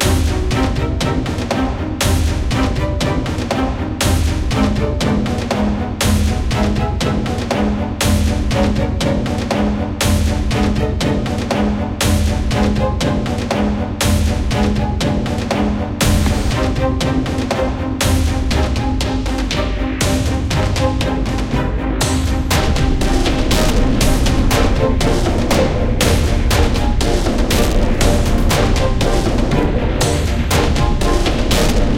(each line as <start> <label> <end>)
0.0 Dramatic Strings 31.9